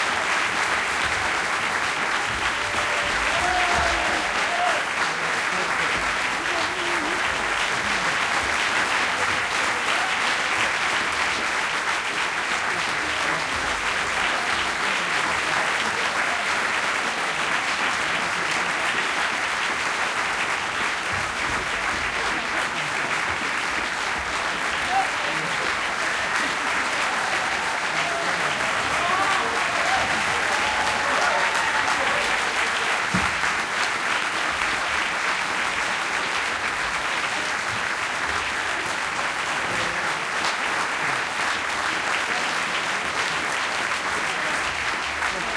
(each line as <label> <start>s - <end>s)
End Applause 0.0s - 45.5s
audience 0.0s - 45.5s